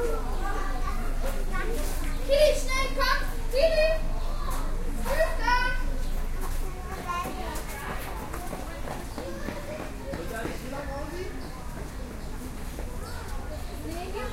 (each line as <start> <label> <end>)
0.0 visitors of a zoo 14.3